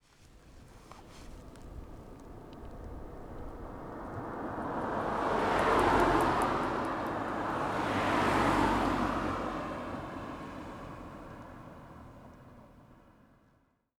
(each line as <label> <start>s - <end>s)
Two cars passing by on a street 0.2s - 13.8s